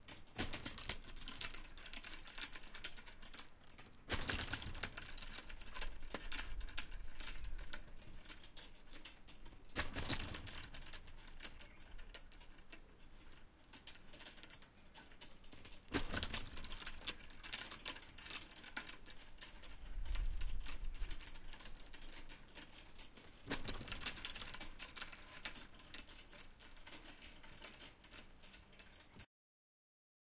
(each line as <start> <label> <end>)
0.0 Heavy chain being shaken and pulled taught 29.3